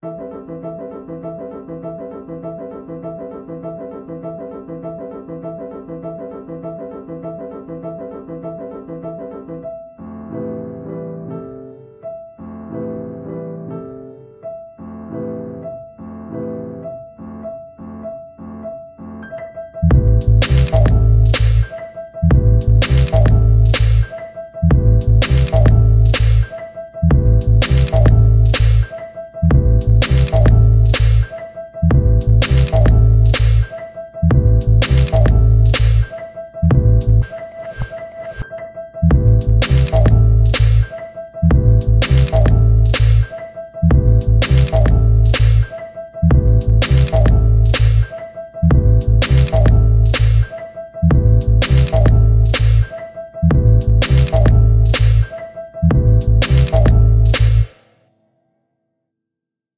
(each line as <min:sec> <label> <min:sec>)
0:00.0 piano 0:58.4
0:19.9 Glitch beat 0:26.5
0:27.1 Glitch beat 0:38.4
0:39.1 Glitch beat 0:43.3
0:43.9 Glitch beat 0:45.7
0:46.3 Glitch beat 0:48.1
0:48.7 Glitch beat 0:50.5
0:51.1 Glitch beat 0:52.9
0:53.5 Glitch beat 0:55.3
0:55.9 Glitch beat 0:57.8